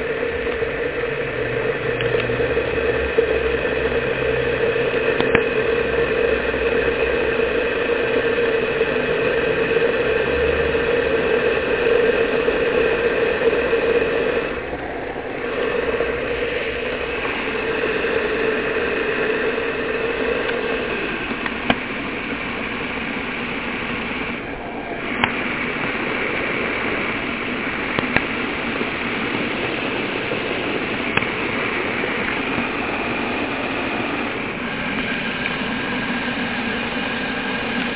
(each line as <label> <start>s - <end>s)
boiler 0.0s - 37.9s
water 0.0s - 37.9s